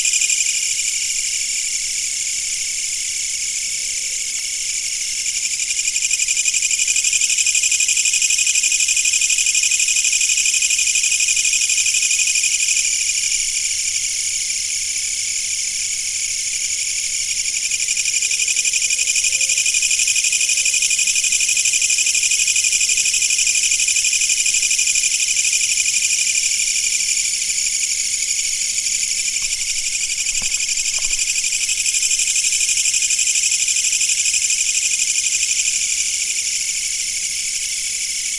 insects 0:00.0 - 0:38.3

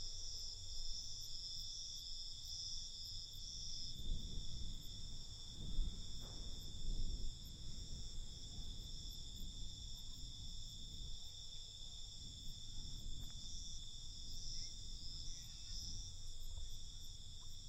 cicadas 0:00.0 - 0:17.6
crickets 0:00.0 - 0:17.6
wind 0:00.0 - 0:17.6
fire crackers 0:03.8 - 0:17.3

